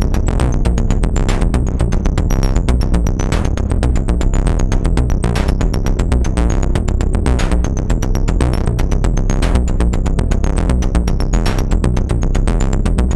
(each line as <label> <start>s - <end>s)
Drones and sequences 0.0s - 13.1s